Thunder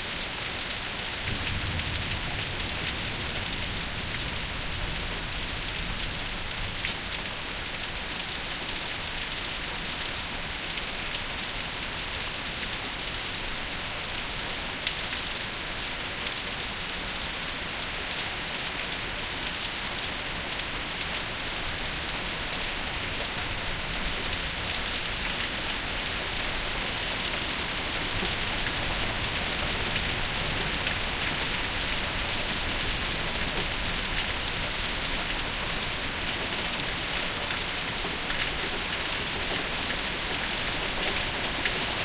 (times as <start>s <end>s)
1.2s 6.5s